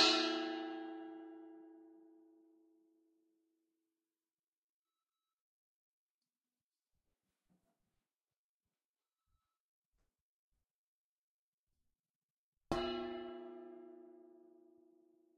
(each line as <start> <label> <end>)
0.0 Struck a metal bowl 2.0
12.7 Struck a metal bowl 14.8